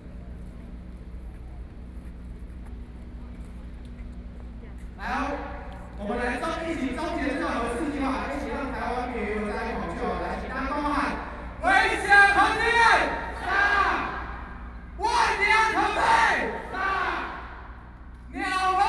Protest 0:05.0 - 0:18.8

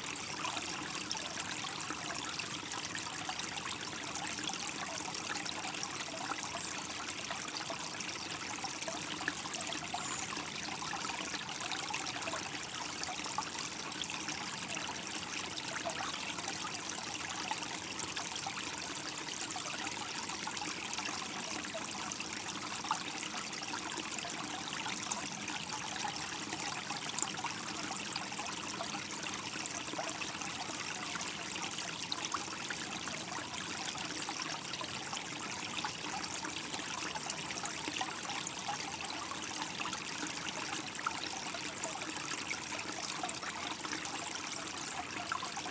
Small stream 0:00.0 - 0:45.7

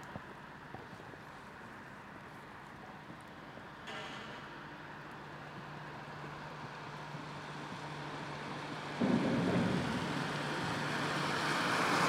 cars 0:00.0 - 0:12.0

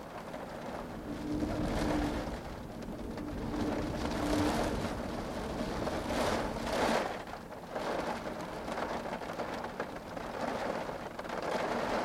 Wind 0:00.0 - 0:12.0
rain 0:00.0 - 0:12.0

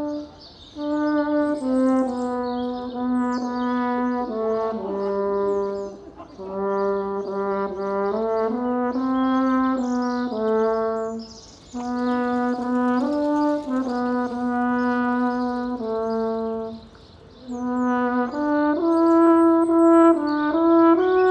Horn concert 0:00.0 - 0:21.3

